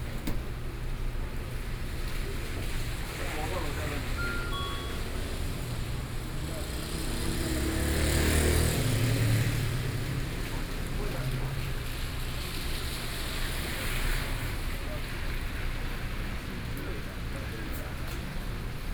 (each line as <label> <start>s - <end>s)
Voice traffic on the street 0.0s - 18.9s
Rainy Day 0.0s - 18.9s